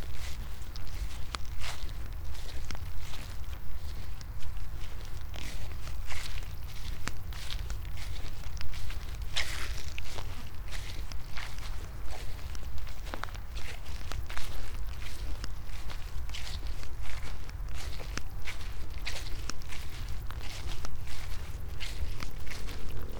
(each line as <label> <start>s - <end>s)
quiet crickets 0.0s - 23.1s